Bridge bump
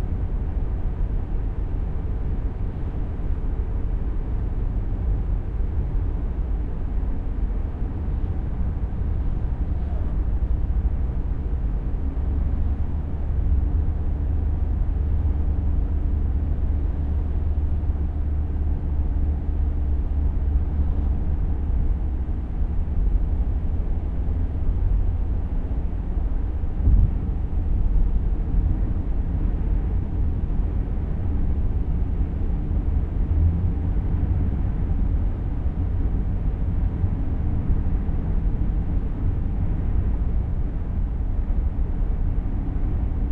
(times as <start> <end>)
26.8 27.3